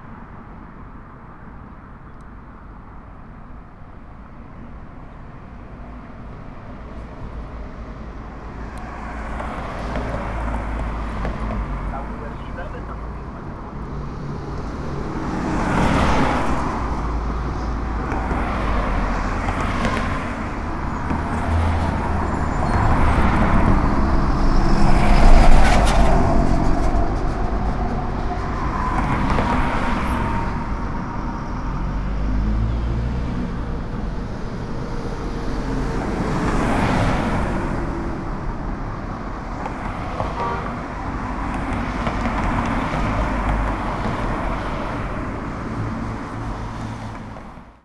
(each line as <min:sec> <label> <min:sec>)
0:00.0 vehicles passing 0:47.8